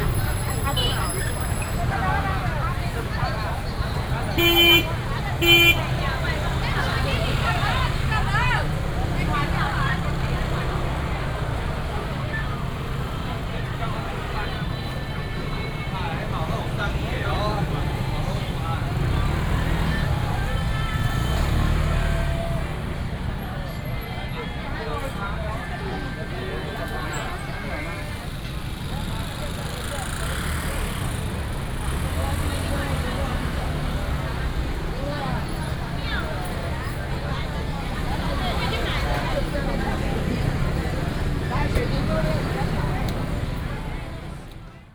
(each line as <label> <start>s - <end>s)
Many motorcycles 0.0s - 44.9s
Walking through the traditional market 0.0s - 44.9s